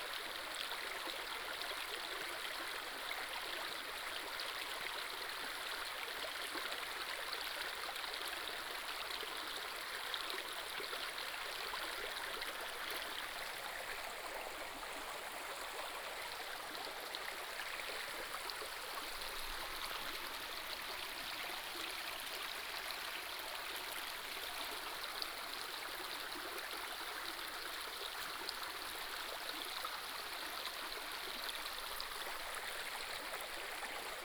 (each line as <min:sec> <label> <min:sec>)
0:09.2 Stream sound 0:34.2